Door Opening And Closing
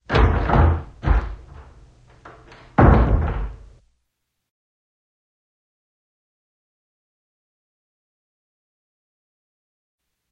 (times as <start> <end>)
0.0 3.8